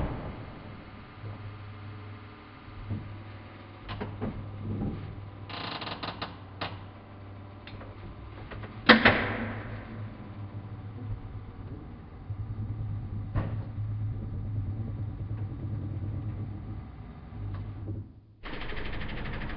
coffee machine 2.0 - 19.5

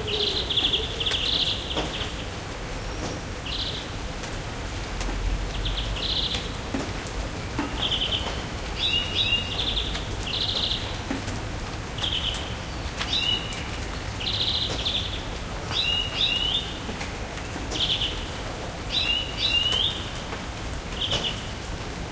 Rain 0.0 - 22.1

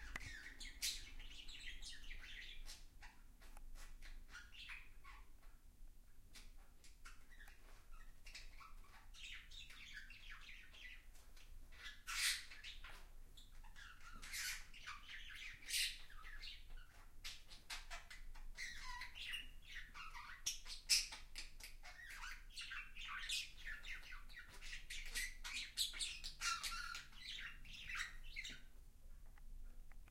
birds 0.0 - 5.6
birds 6.3 - 28.8

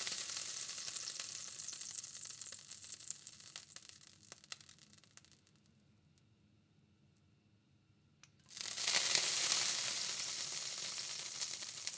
water being squirted onto a hot frying pan 0.0 - 4.8
water being squirted onto a hot frying pan 8.5 - 11.9

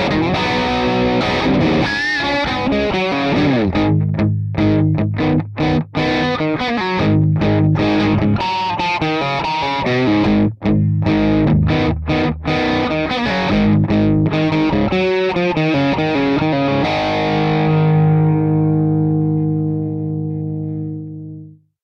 Electric guitar low distortion 0.0 - 21.6

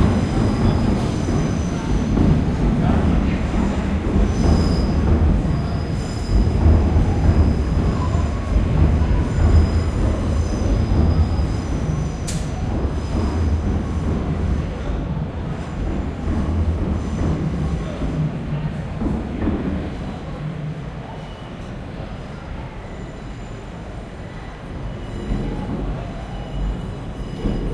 pedestrians 0.0 - 27.7

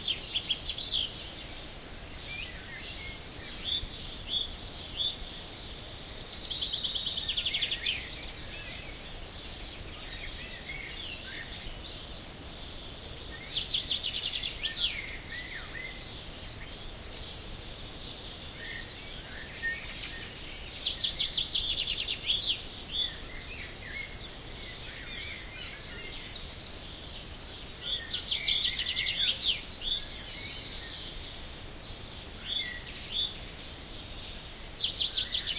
choir of birds 0.0 - 35.5

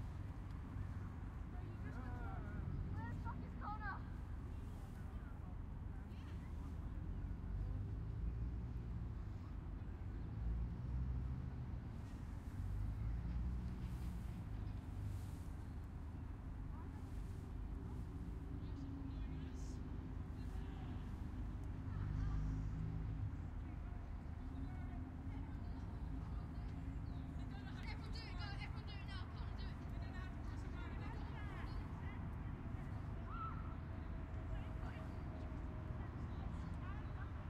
kids playing about in the background 21.1 - 23.7

